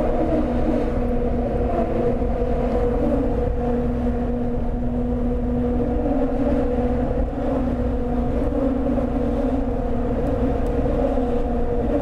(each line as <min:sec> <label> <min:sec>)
0:00.0 Bridge singing with the cars 0:12.0